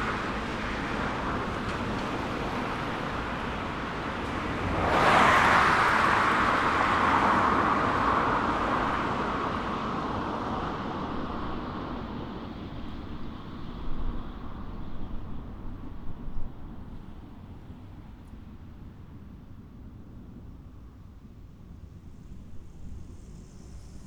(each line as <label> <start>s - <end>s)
Vehicles going in and out of the tunnel 0.0s - 14.4s
Vehicles going in and out of the tunnel 20.1s - 24.0s